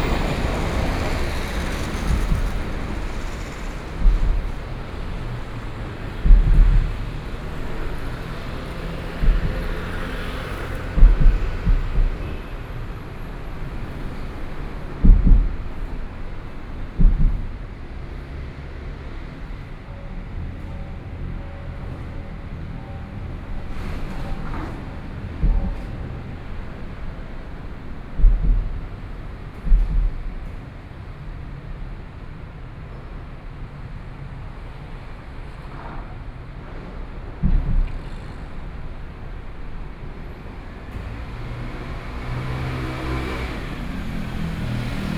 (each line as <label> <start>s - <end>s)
Traffic Noise 0.0s - 45.1s
Train traveling through 0.0s - 45.1s